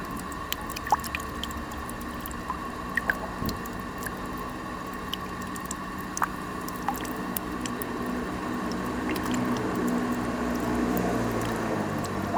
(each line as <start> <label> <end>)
0.0 drops from a fountain 12.3